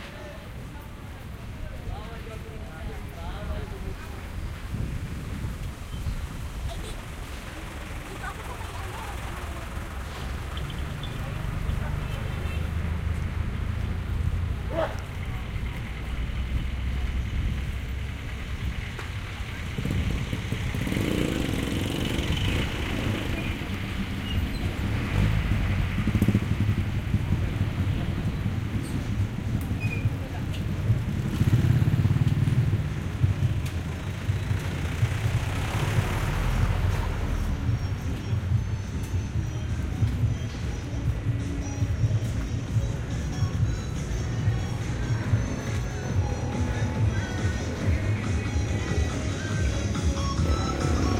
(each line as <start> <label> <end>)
0.0 cars 51.1
0.0 jeepneys 51.1
0.0 motorcycles 51.1
0.0 voices of the people walking around 51.1
4.0 wind in the microphones 6.7